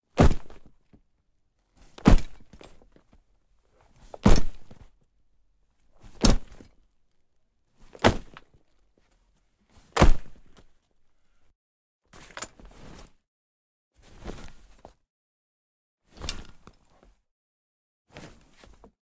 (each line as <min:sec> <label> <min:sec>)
0:00.2 heavy sack falling on concrete 0:00.7
0:02.0 heavy sack falling on concrete 0:02.7
0:04.2 heavy sack falling on concrete 0:04.9
0:06.1 heavy sack falling on concrete 0:06.6
0:08.0 heavy sack falling on concrete 0:08.4
0:10.0 heavy sack falling on concrete 0:10.5